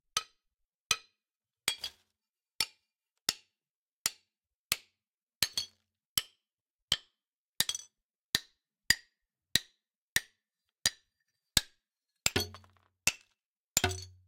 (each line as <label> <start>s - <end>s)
breaking porcelain 12.3s - 14.2s